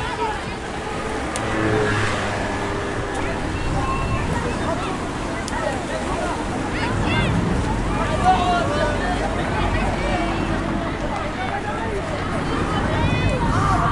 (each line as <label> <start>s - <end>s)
Children playing 0.0s - 13.9s
traffic 0.0s - 13.9s
waves 0.0s - 13.9s